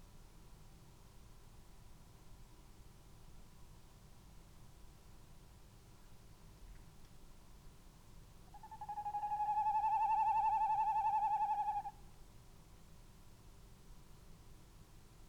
0.0s background noise 15.2s
8.5s tawny owl 12.0s

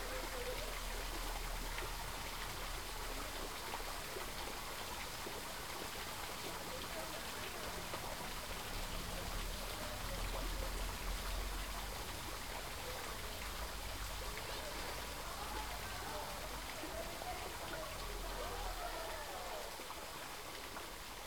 0.0s fountain 21.2s

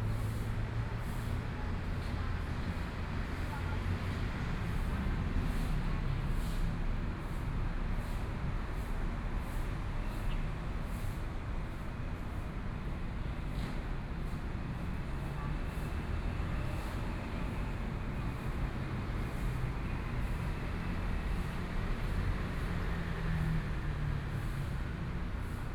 0.0s Traffic Sound 25.7s

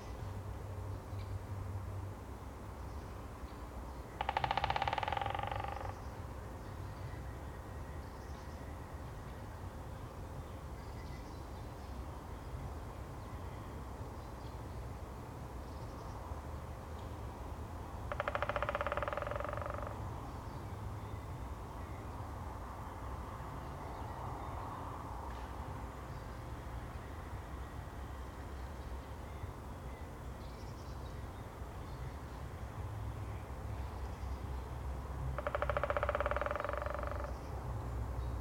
4.2s woodpeckers 6.1s
18.1s woodpeckers 20.0s
35.4s woodpeckers 37.5s

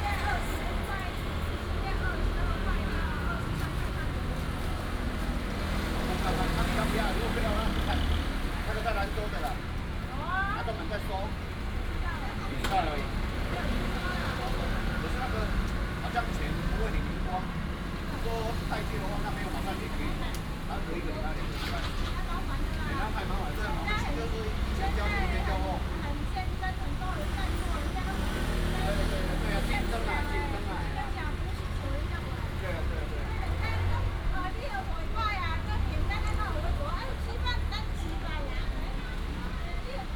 0.0s Street vendor selling pineapple 40.1s
0.0s traffic sound 40.1s

